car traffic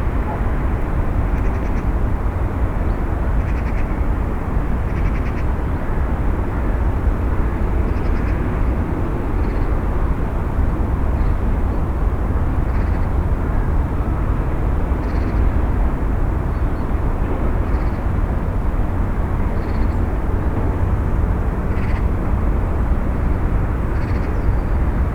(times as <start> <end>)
5.6 25.1